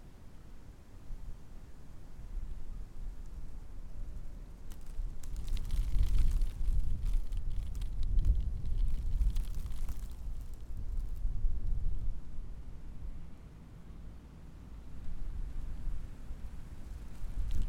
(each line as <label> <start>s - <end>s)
security tape rustling on a wind 2.3s - 12.6s
security tape rustling on a wind 14.8s - 17.6s